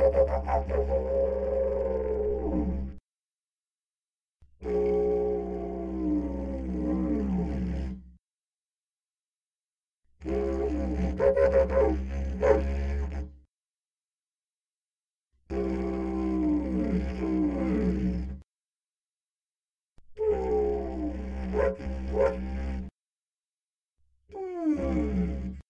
0.0s didgeridoo 3.0s
4.6s didgeridoo 8.0s
10.2s didgeridoo 13.4s
15.5s didgeridoo 18.4s
20.2s didgeridoo 22.9s
24.7s didgeridoo 25.6s

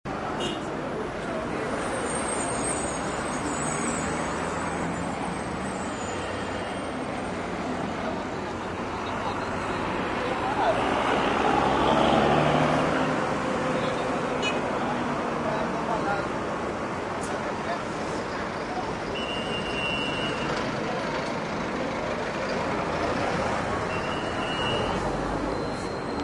0.0s traffic 26.2s
0.1s Buses 26.2s
19.0s police whistle 20.6s
23.9s police whistle 26.2s

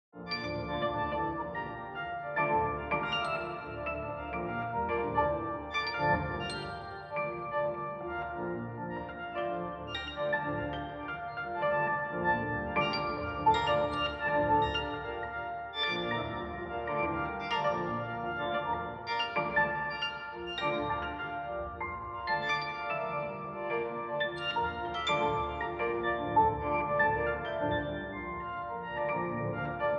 0.2s Piano 29.9s

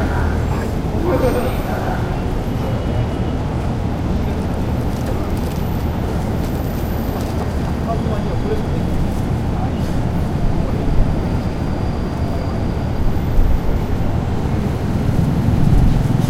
0.0s Trains come and go 16.2s
0.0s lots of people come in go 16.2s

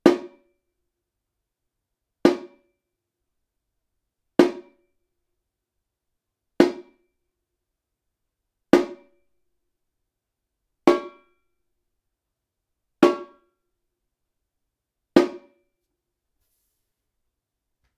0.0s repinique (samba drum), hit on the head with a wooden stick 0.4s
2.3s repinique (samba drum), hit on the head with a wooden stick 2.6s
4.4s repinique (samba drum), hit on the head with a wooden stick 4.8s
6.6s repinique (samba drum), hit on the head with a wooden stick 7.0s
8.8s repinique (samba drum), hit on the head with a wooden stick 9.1s
10.9s repinique (samba drum), hit on the head with a wooden stick 11.3s
13.0s repinique (samba drum), hit on the head with a wooden stick 13.4s
15.2s repinique (samba drum), hit on the head with a wooden stick 15.6s

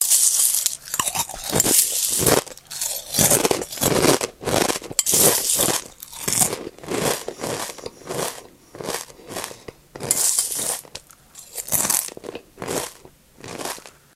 0.0s eating cereal 14.0s

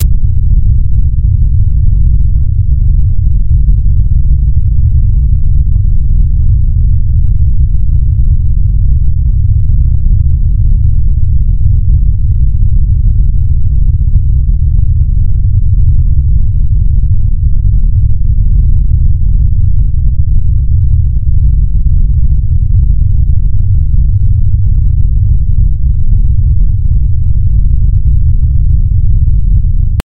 0.0s noise 30.0s

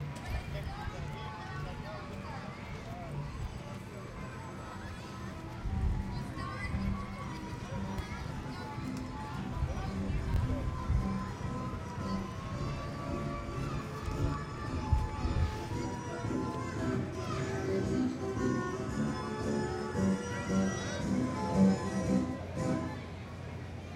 0.0s Merry-Go-Round Music Climax 23.8s

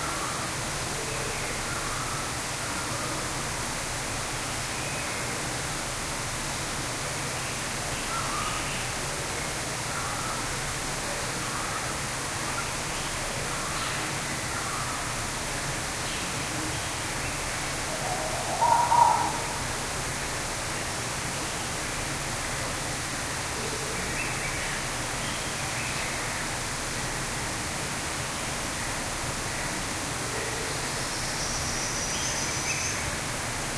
0.0s waterfall 33.7s
17.9s Purple-throated Fruitcrow 19.8s
17.9s Common Bulbul 19.6s
17.9s Oriole Warbler 19.6s
18.0s Collared Finchbill 19.6s
18.0s White-bellied Go-away-bird 19.6s

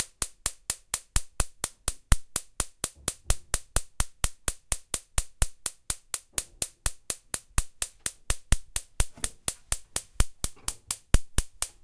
5.7s clicks 11.8s

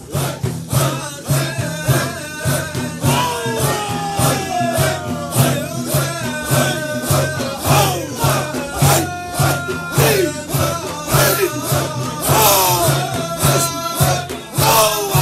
0.0s sufis made zikr 15.2s

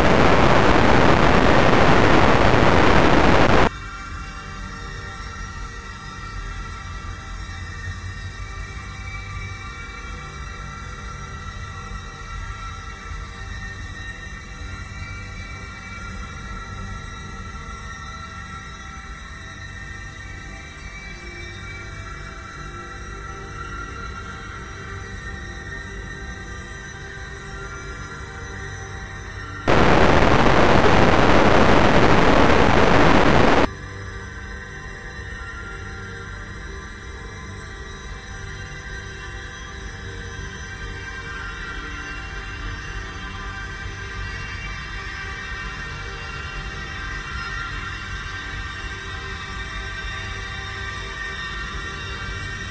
0.0s heavily reverberated distortion at random times 3.7s
0.0s slowly evolving dreamy ambient drone pad 52.7s
29.7s heavily reverberated distortion at random times 33.7s

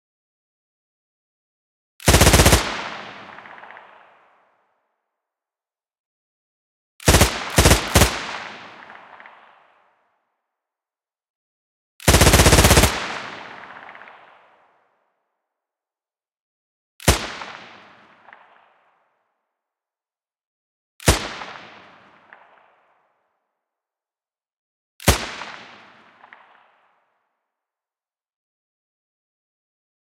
2.0s Light machine gun sound with environment reverb 5.2s
7.0s Light machine gun sound with environment reverb 10.7s
12.0s Light machine gun sound with environment reverb 15.3s
17.0s Light machine gun sound with environment reverb 19.6s
21.0s Light machine gun sound with environment reverb 23.7s
25.0s Light machine gun sound with environment reverb 27.5s

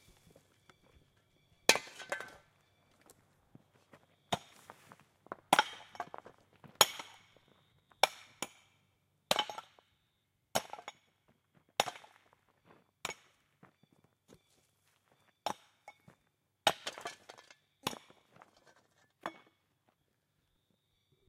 1.7s Pick axe striking rocks 2.5s
4.3s Pick axe striking rocks 4.6s
5.4s Pick axe striking rocks 7.4s
8.0s Pick axe striking rocks 9.8s
10.5s Pick axe striking rocks 11.1s
11.7s Pick axe striking rocks 12.4s
13.0s Pick axe striking rocks 13.5s
15.4s Pick axe striking rocks 18.5s
19.2s Pick axe striking rocks 19.6s

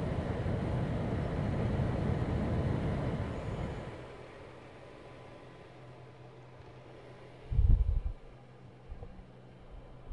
0.0s small indoor air fan 10.1s

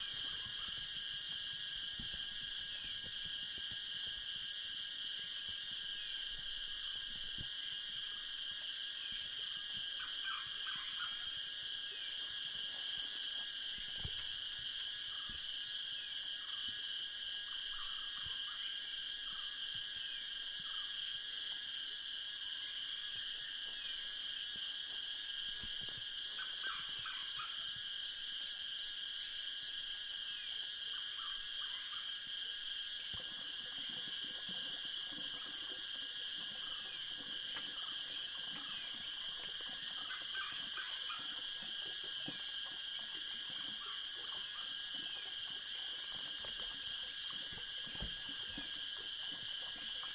0.0s Crickets in forest 50.1s
0.0s frogs 50.1s

